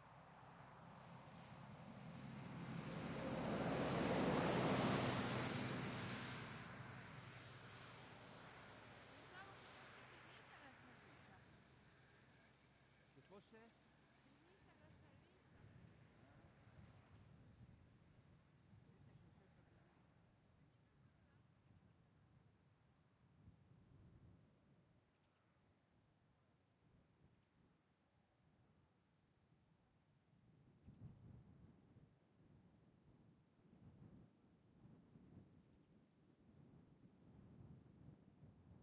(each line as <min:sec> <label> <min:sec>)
0:00.0 Light intermittent wind 0:38.8
0:00.0 single vehicles (mainly cars and trucks) passing 0:14.8